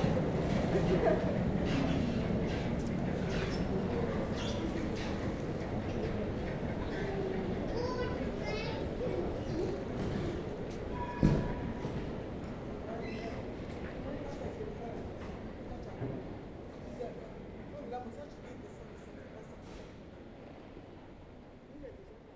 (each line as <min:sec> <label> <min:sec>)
0:00.0 a train leaving 0:17.7